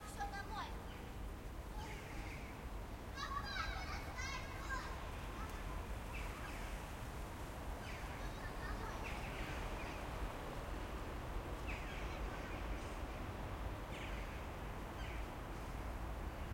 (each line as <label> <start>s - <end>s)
Children playing outdoors 0.0s - 16.5s